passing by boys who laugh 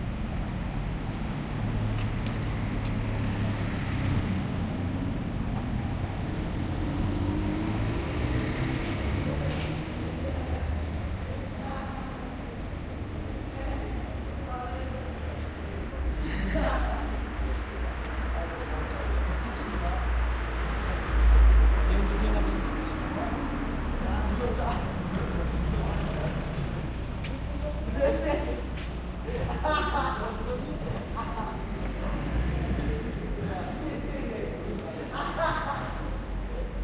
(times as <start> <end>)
16.0 17.6, 27.8 32.2, 34.7 36.7